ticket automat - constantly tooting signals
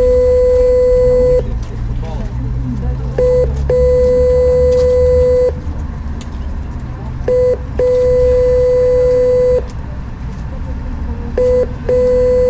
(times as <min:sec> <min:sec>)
0:00.0 0:01.5, 0:03.1 0:05.6, 0:07.2 0:09.7, 0:11.4 0:12.4